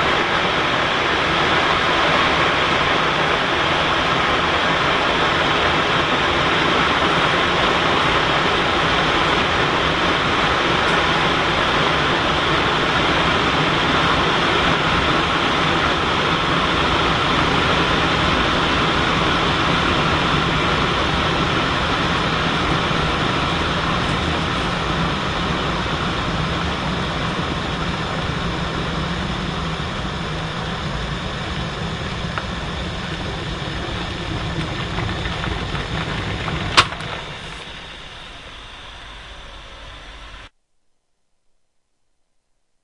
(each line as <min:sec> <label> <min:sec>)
0:00.0 boiling 0:40.5
0:00.0 steam 0:40.5